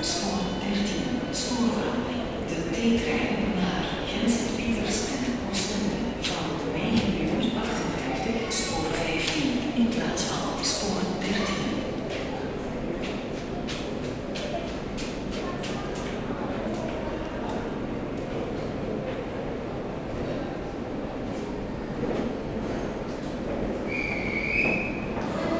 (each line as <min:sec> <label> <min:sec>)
0:16.2 a train leaving 0:25.5